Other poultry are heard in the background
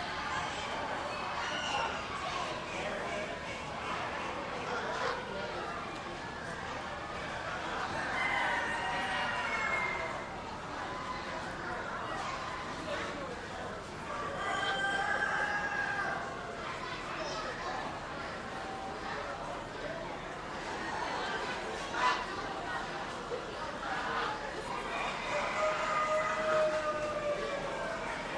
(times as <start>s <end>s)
7.8s 10.3s, 14.1s 16.4s, 24.7s 28.2s